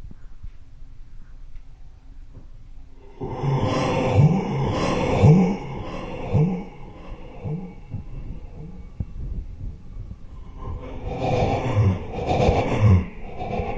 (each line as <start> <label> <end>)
2.9 Heavy shuddering inward breaths 13.7
3.0 feedback 13.7